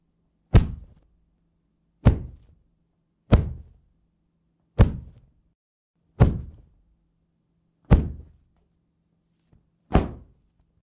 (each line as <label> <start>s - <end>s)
kick 0.5s - 1.0s
kick 2.0s - 2.6s
kick 3.3s - 3.8s
kick 4.8s - 5.2s
kick 6.2s - 6.7s
kick 7.9s - 8.4s
kick 9.9s - 10.4s